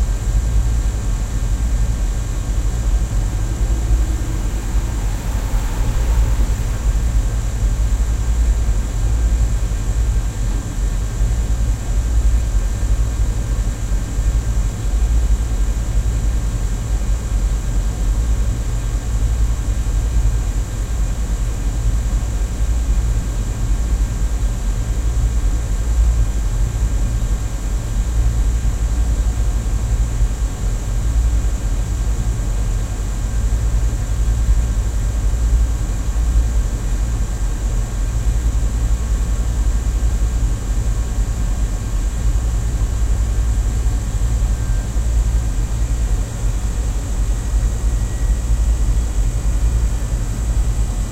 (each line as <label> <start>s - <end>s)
Air conditioner device 0.0s - 18.9s